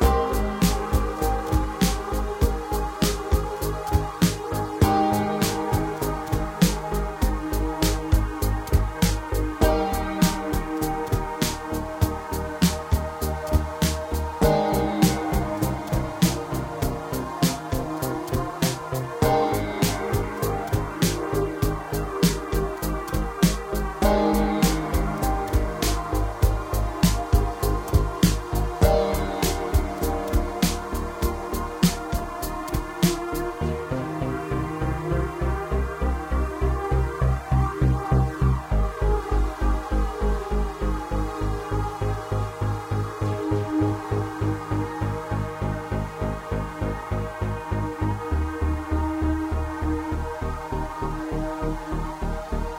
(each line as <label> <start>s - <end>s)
drum 0.0s - 33.6s
piano 0.0s - 52.7s